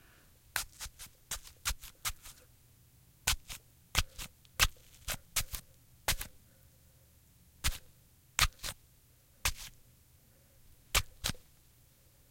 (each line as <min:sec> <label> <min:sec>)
0:00.5 stabbing an apple with a knife 0:02.4
0:03.2 stabbing an apple with a knife 0:06.3
0:07.6 stabbing an apple with a knife 0:08.8
0:09.4 stabbing an apple with a knife 0:09.8
0:10.9 stabbing an apple with a knife 0:11.4